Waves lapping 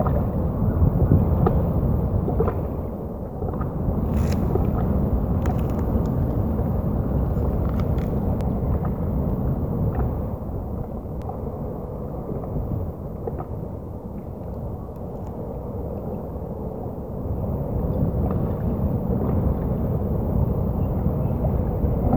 0:03.8 0:08.4

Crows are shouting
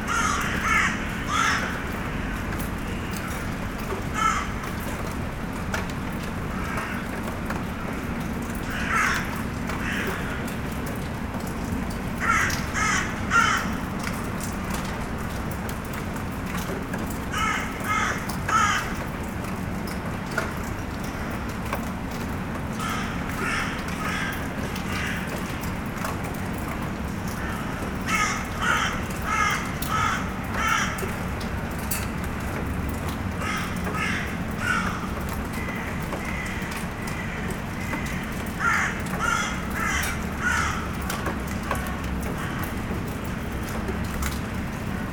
0:00.0 0:02.4, 0:04.0 0:04.7, 0:08.6 0:10.6, 0:12.2 0:13.8, 0:17.3 0:19.0, 0:22.8 0:25.6, 0:27.3 0:31.1, 0:33.4 0:41.1

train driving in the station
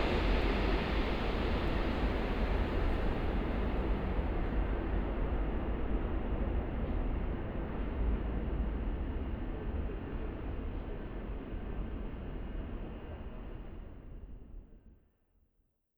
0:00.0 0:06.2

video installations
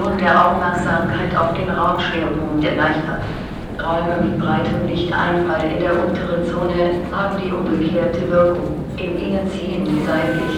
0:09.8 0:10.5

